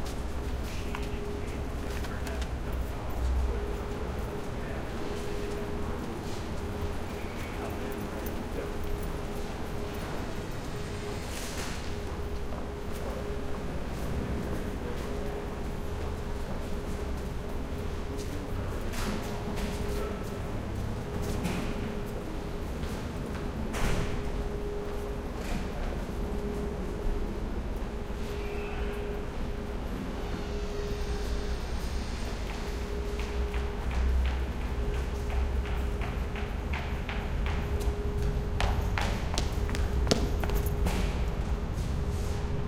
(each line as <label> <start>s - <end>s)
Train passing 0.0s - 42.6s